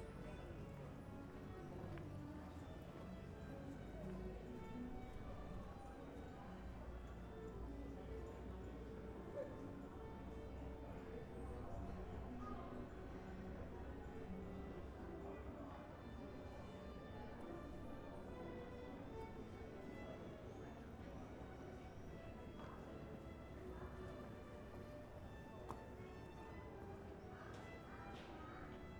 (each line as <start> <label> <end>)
0.0 Street violin band 12.3
0.0 Pedestrians and cyclists 28.9
13.0 Street violin band 28.9